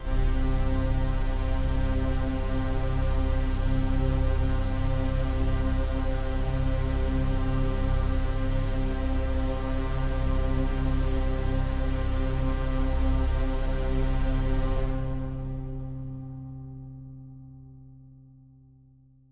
bass 0.0 - 19.3

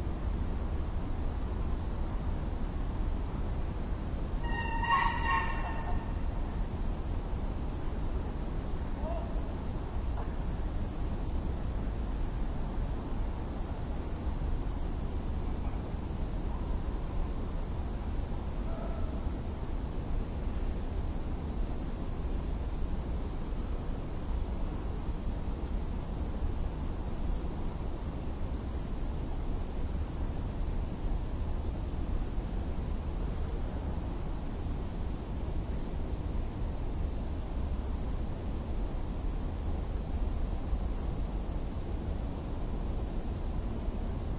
birds 4.4 - 6.6

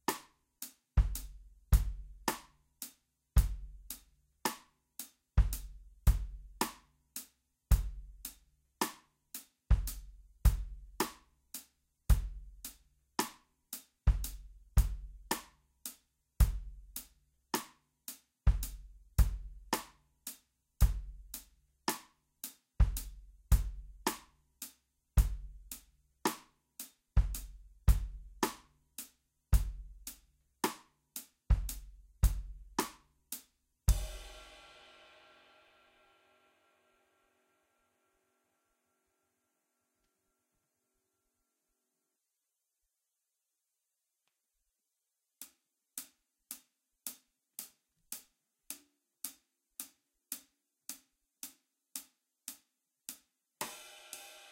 Ballad drum beat 0.0 - 2.6
Ballad drum beat 3.4 - 9.1
Ballad drum beat 9.7 - 13.4
Ballad drum beat 14.0 - 15.7
Ballad drum beat 16.4 - 17.8
Ballad drum beat 18.5 - 22.1
Ballad drum beat 22.8 - 24.4
Ballad drum beat 25.2 - 28.8
Ballad drum beat 29.6 - 33.1
Ballad drum beat 33.9 - 34.9
Ballad drum beat 53.6 - 54.5

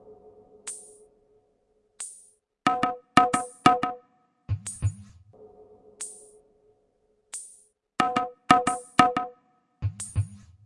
drum 2.7 - 5.2
drum 8.0 - 10.5

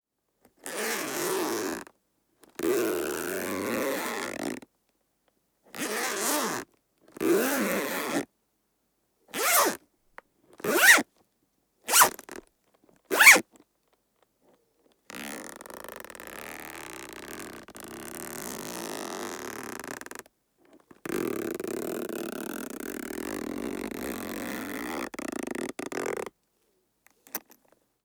zipper lock 0.6 - 1.8
zipper lock 2.6 - 4.5
zipper lock 5.7 - 6.6
zipper lock 7.2 - 8.2
zipper lock 9.4 - 9.8
zipper lock 10.6 - 11.0
zipper lock 11.9 - 12.4
zipper lock 13.1 - 13.4
zipper lock 15.1 - 20.2
zipper lock 21.0 - 26.3
zipper lock 27.2 - 27.6

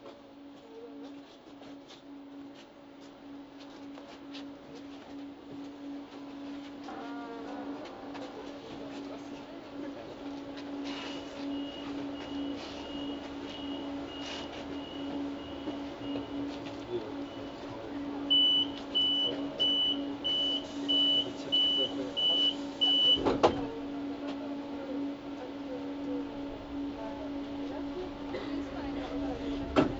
commuters chatter 0.0 - 29.9
train 0.0 - 29.9

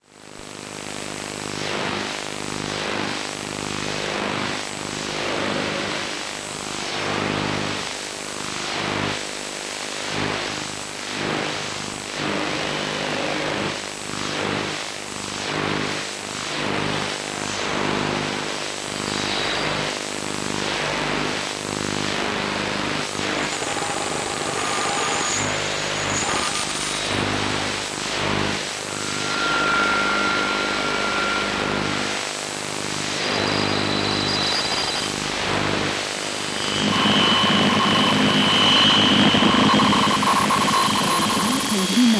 Random dial sweep in the shortwave 21.9 - 42.1

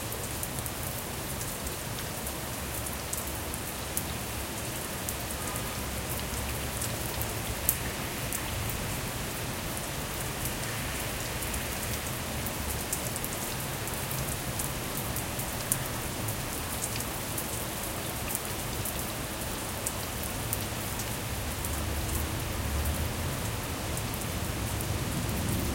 rain 0.0 - 25.7

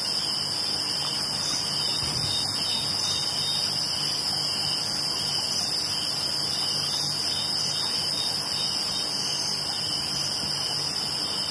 cicadas 0.0 - 11.5
frogs 0.0 - 11.5

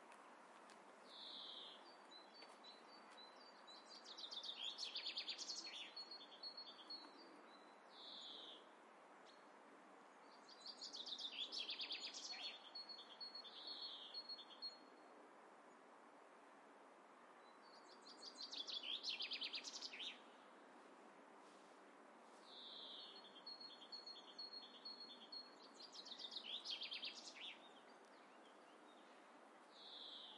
birds 0.0 - 9.5
birds 10.1 - 15.0
birds 17.3 - 20.8
birds 22.4 - 30.3

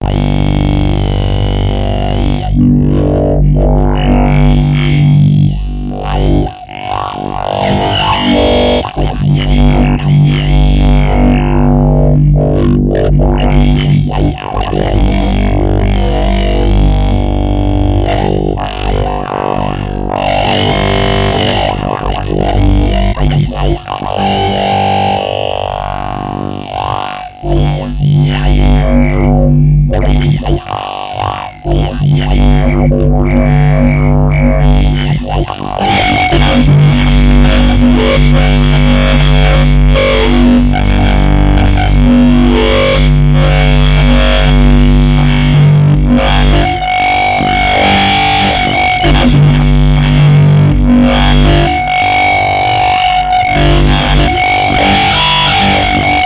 bass 0.0 - 56.2

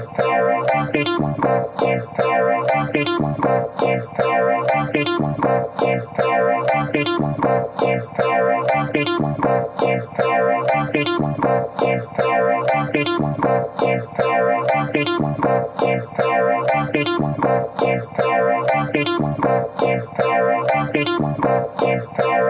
bass 0.0 - 22.4
beat 0.0 - 22.4

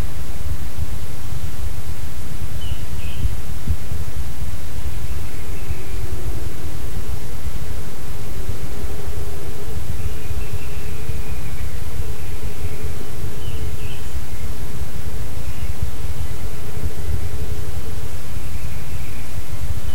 wind 0.0 - 19.9
birds 2.5 - 3.6
birds 4.6 - 7.4
birds 8.4 - 19.9

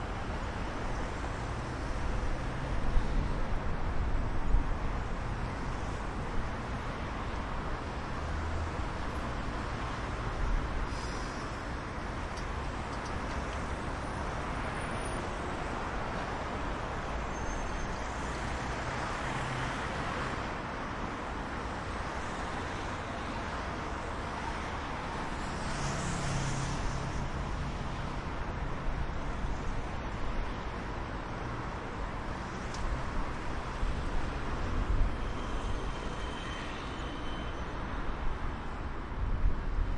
Traffic 0.0 - 39.9

